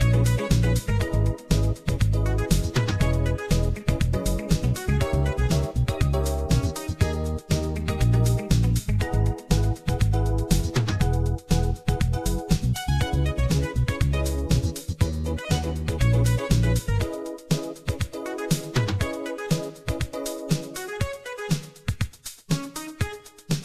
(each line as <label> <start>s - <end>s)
bass 0.0s - 19.2s
snare 2.4s - 12.9s
snare 17.5s - 20.9s
snare 21.5s - 23.6s